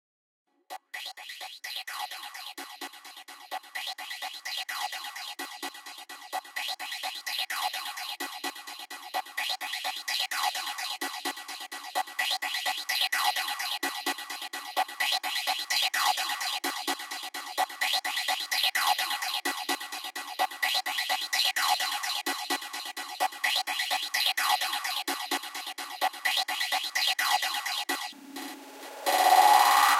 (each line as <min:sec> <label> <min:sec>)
0:28.8 Vox thats been effected and gitched with a vol swell 0:29.9